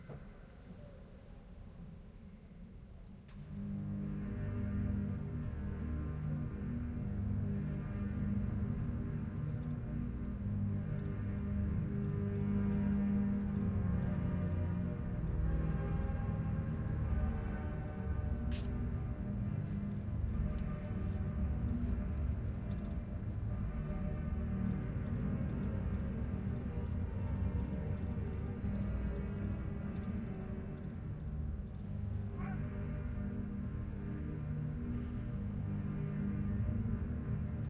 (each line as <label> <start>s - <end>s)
church organ 3.4s - 37.6s